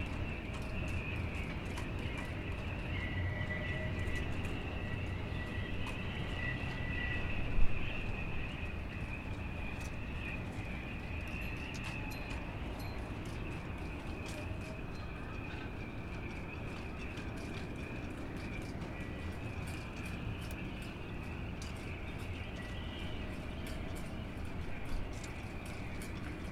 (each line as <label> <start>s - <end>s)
shipbuilding with the wind 0.0s - 26.5s